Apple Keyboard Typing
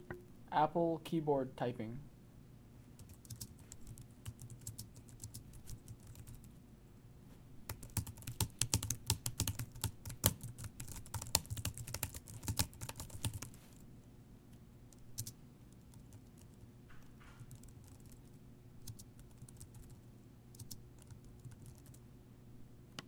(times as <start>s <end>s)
3.0s 6.4s, 7.7s 13.6s, 15.2s 16.6s, 17.4s 18.2s, 18.9s 20.0s, 20.6s 22.0s